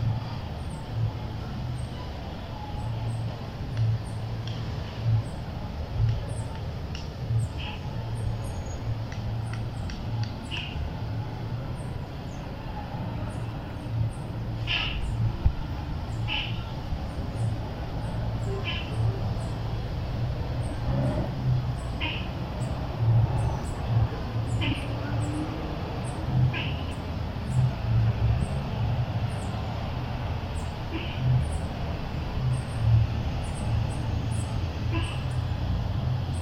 0.0s pájaros sonando 36.4s

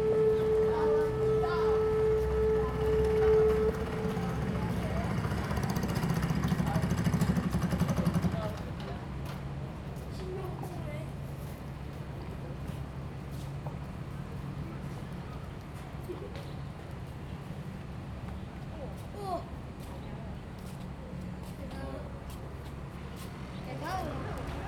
0.0s Cruises and Yachts 7.2s

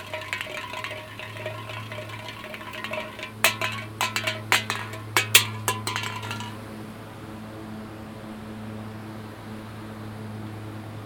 0.0s wind plays with a coke can pushing it down the steps 6.6s

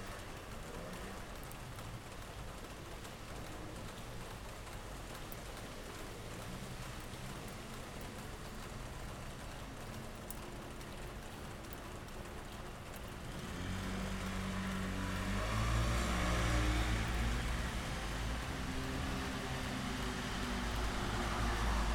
0.0s Afternoon rain 21.9s

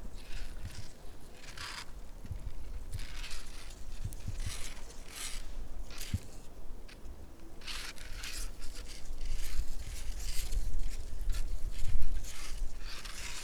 2.5s dried reed leaves rubbing one to another 6.4s
7.6s dried reed leaves rubbing one to another 13.4s

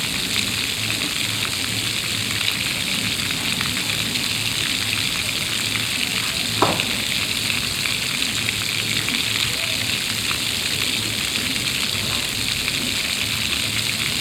0.0s circular water fountain 14.2s

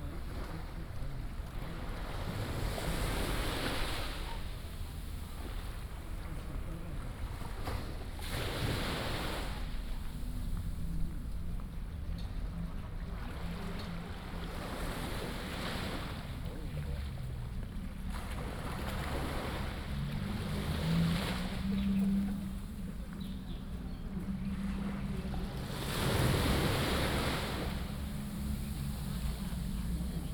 0.0s Tide 30.3s

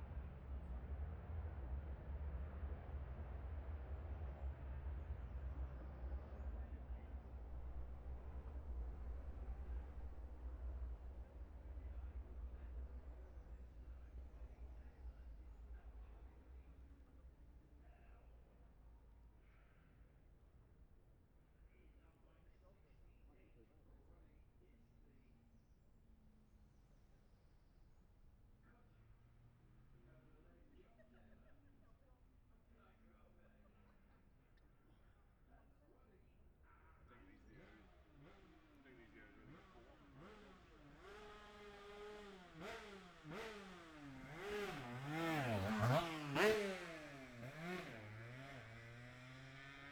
0.0s road racing 16.9s
36.9s road racing 49.9s

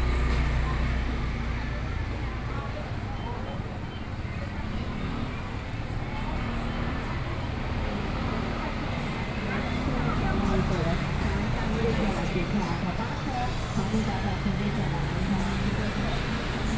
0.0s Traffic Sound 16.7s

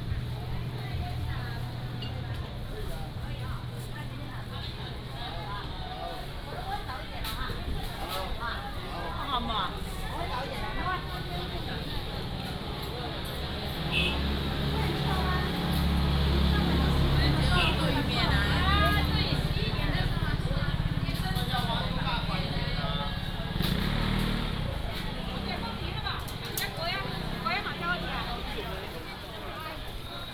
0.0s Market selling sound 30.3s
0.0s Walking in the Street 30.3s
10.5s motorcycle 29.3s

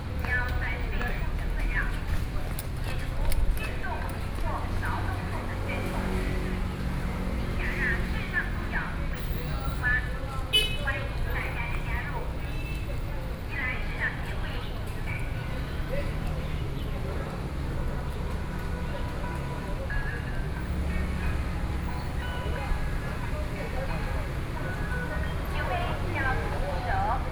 0.0s Traffic Sound 27.3s

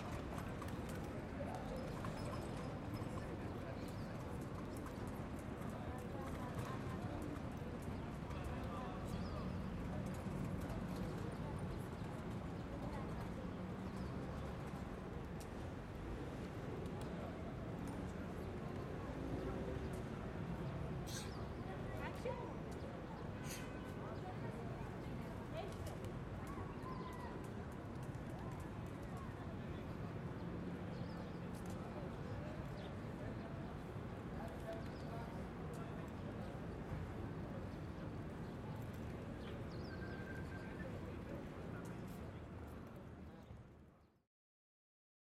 0.0s People talking 14.1s
0.0s people passing by 44.1s

